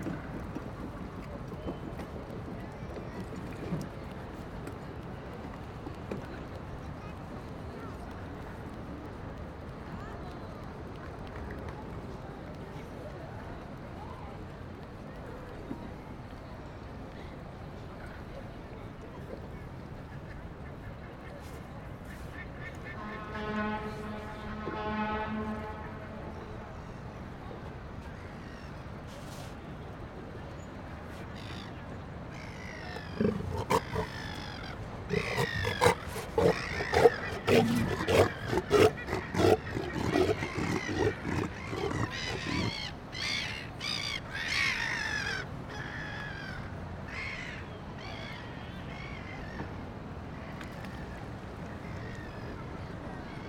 WET TRAFFIC FAR 0:00.0 - 0:47.1
BOAT 0:00.0 - 0:53.4
BIRDS 0:31.3 - 0:49.7
LARGE SEA LIONS 0:32.3 - 0:47.3

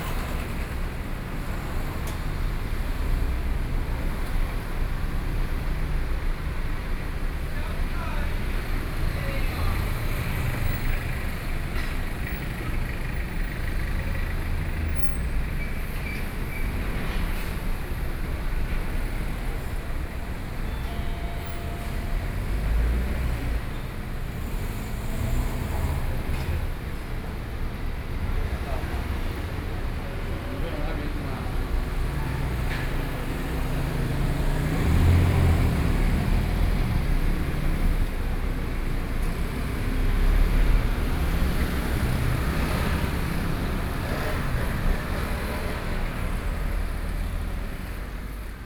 Traffic Noise 0:00.0 - 0:48.6

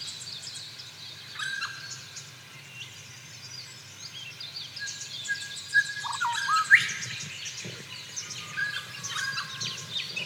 Wollombi Morning Birds 0:07.0 - 0:10.2

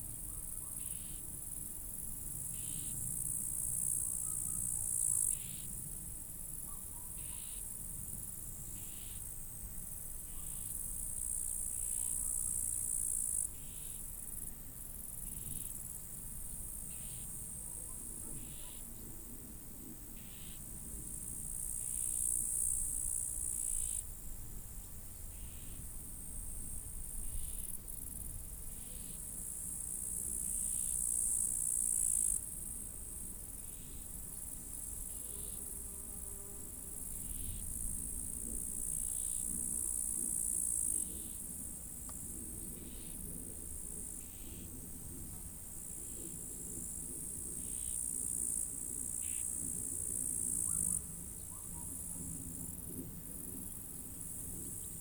crickets 0:00.0 - 0:55.0
wind 0:00.0 - 0:55.0
plane 0:49.6 - 0:55.0

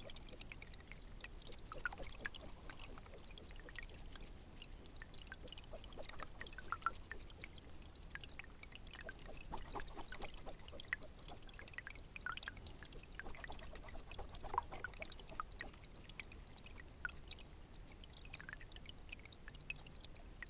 dripping 0:00.0 - 0:17.6
stream 0:00.0 - 0:20.4

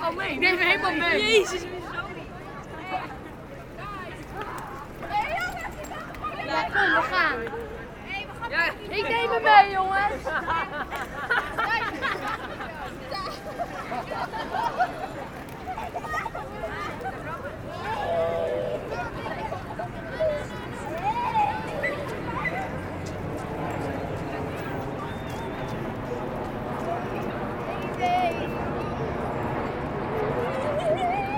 Tourists 0:00.0 - 0:31.3
teenagers shouting 0:03.8 - 0:07.4
teenagers shouting 0:15.7 - 0:23.0

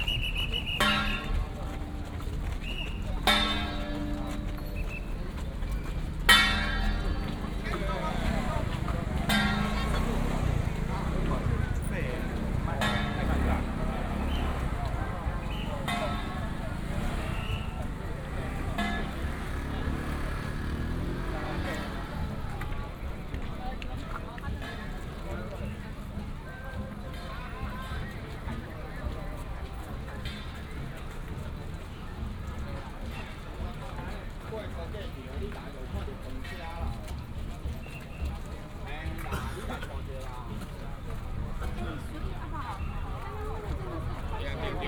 Whistle sound 0:00.0 - 0:01.3
Footsteps 0:00.0 - 0:19.5
A lot of people 0:00.0 - 0:44.8
Whistle sound 0:02.6 - 0:03.0

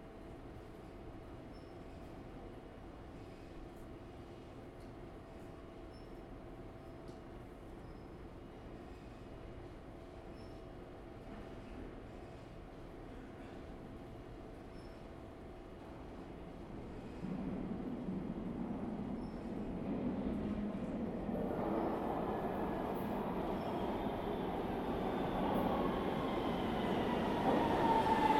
train arriving and leaving 0:15.0 - 0:28.3

